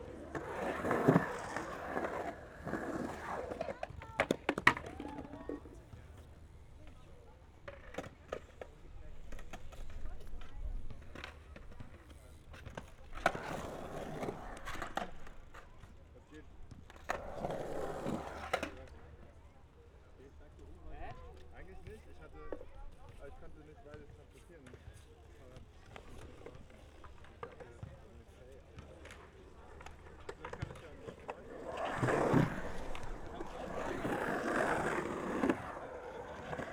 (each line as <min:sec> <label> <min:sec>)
0:00.0 skaters excercising 0:19.1
0:24.8 skaters excercising 0:36.7